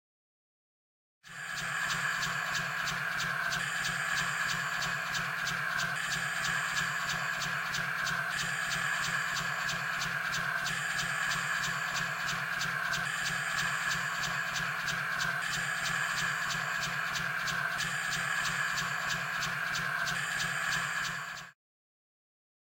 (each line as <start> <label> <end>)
1.3 inside engine of spaceship 21.6